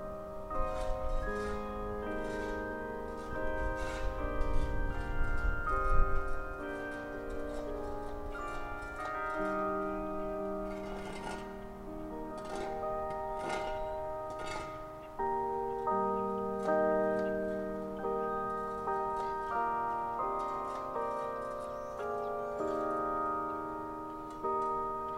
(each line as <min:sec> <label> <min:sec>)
0:00.0 noon chimes 0:25.1
0:00.0 west wind 0:25.1
0:00.5 with a shovel, tidies up the edges of a sidewalk 0:16.0